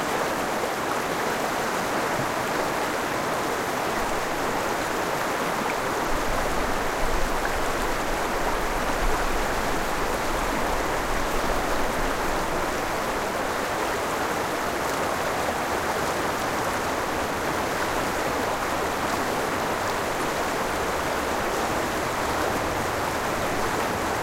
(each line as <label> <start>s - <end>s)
RIVER FLOW 0.0s - 24.2s
waterfall 0.0s - 24.2s